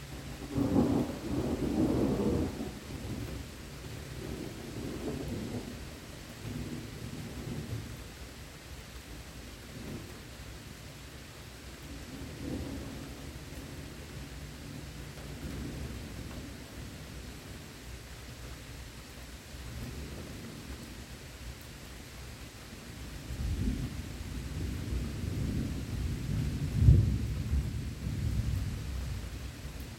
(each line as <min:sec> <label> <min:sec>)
0:00.0 distant heavy rain 0:29.9
0:00.4 Thunder rumbles twice 0:03.4
0:04.2 Thunder rumbles twice 0:05.8
0:23.4 Thunder rumbles twice 0:29.2